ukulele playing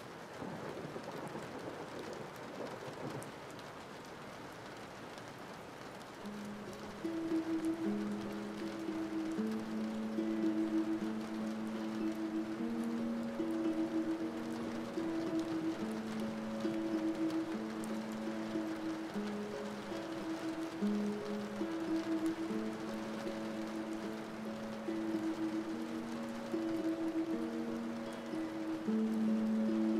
6.3s 29.9s

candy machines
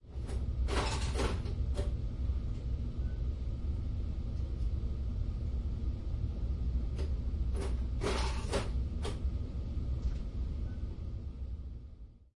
0.3s 1.9s, 7.6s 9.2s

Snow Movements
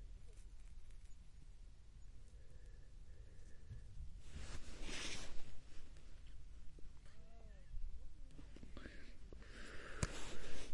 4.2s 6.0s

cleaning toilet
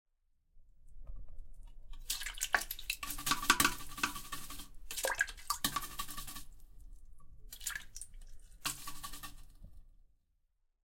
2.0s 6.8s, 7.4s 9.8s

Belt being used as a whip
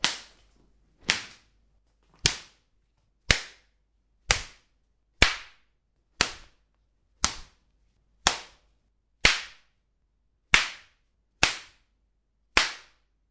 0.0s 1.5s, 2.1s 2.7s, 3.3s 6.6s, 7.2s 7.6s, 8.2s 9.8s, 10.5s 11.9s, 12.6s 13.1s

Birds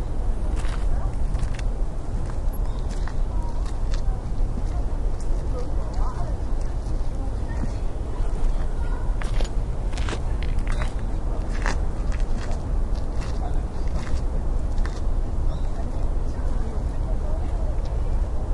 2.3s 5.4s, 15.4s 16.6s

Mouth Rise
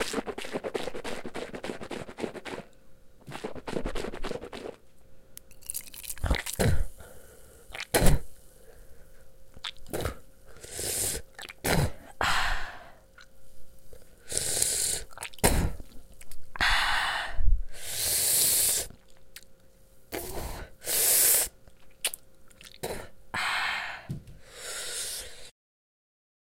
0.0s 4.8s, 6.1s 7.0s, 7.7s 8.3s, 9.6s 13.3s, 14.2s 16.7s

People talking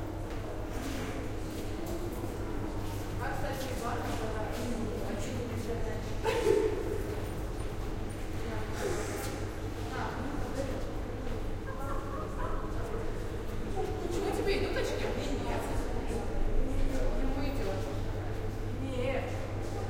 3.2s 7.2s, 8.4s 19.8s

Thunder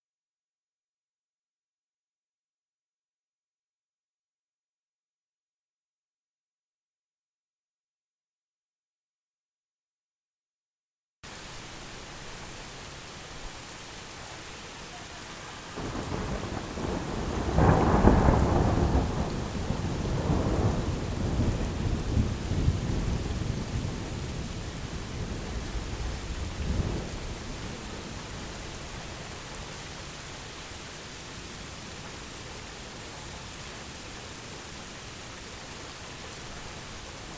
15.8s 27.8s

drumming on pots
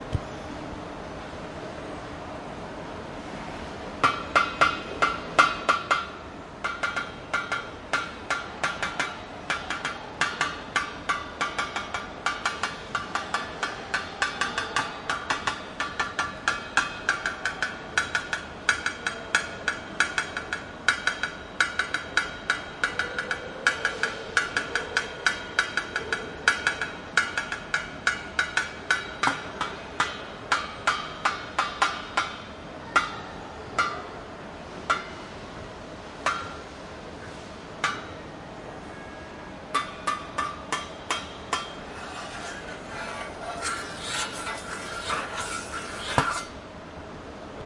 4.0s 32.4s

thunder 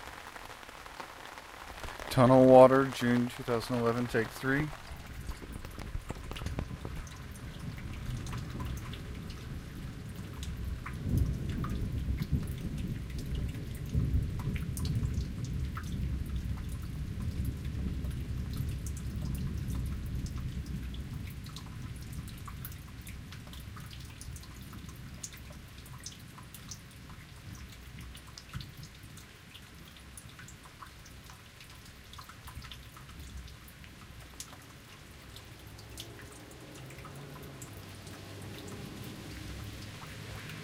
4.0s 21.4s

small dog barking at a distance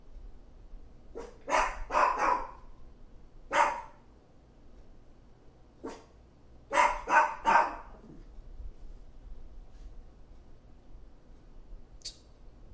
1.1s 2.7s, 3.5s 4.0s, 5.8s 6.1s, 6.7s 8.2s

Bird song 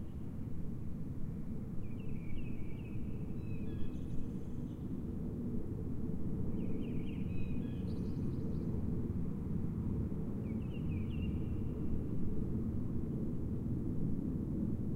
1.8s 4.9s, 6.6s 8.7s, 10.4s 11.8s

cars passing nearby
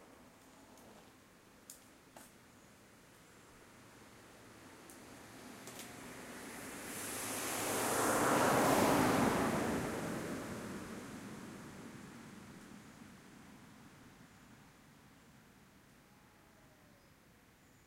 4.3s 13.2s

